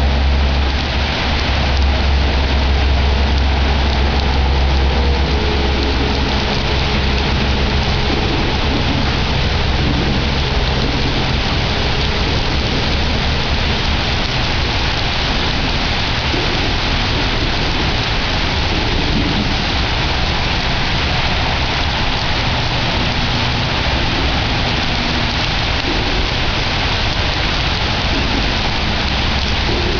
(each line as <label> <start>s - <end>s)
rain pelting the ground nearby 0.0s - 29.9s
traffic overhead 0.0s - 29.9s